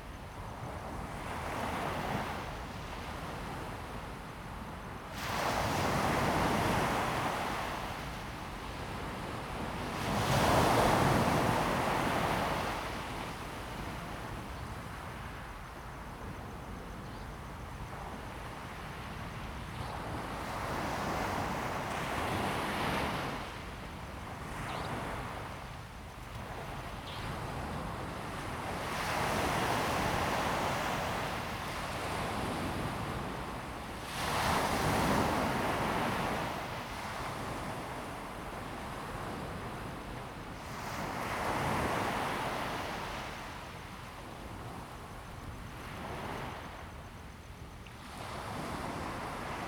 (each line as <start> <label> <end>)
17.9 waves 49.6